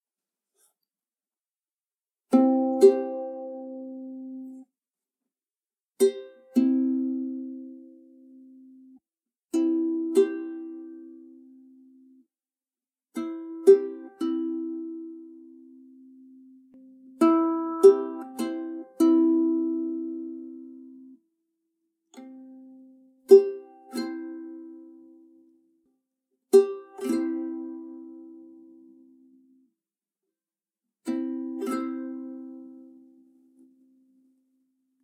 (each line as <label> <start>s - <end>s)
ukulele 2.3s - 4.7s
ukulele 6.0s - 12.2s
ukulele 13.1s - 21.2s
ukulele 22.1s - 25.8s
ukulele 26.5s - 29.7s
ukulele 31.0s - 35.0s